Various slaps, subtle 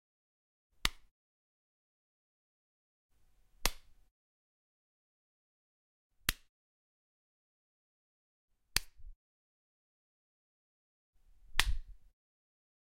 0.8 1.1, 3.6 4.0, 6.2 6.5, 8.7 9.2, 11.5 12.0

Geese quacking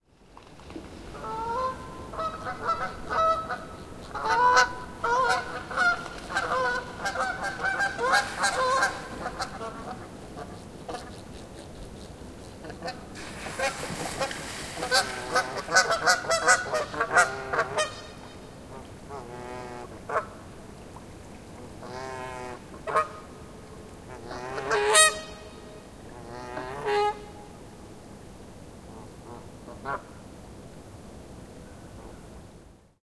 1.2 11.2, 12.6 20.3, 24.1 25.5

